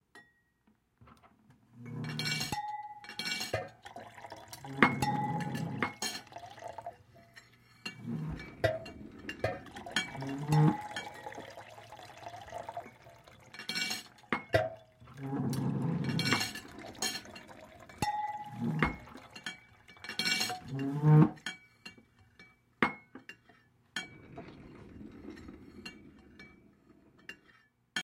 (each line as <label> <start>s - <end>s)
glasses 1.8s - 27.7s
plates 1.9s - 27.7s
chairs 7.8s - 11.4s
chairs 24.0s - 27.4s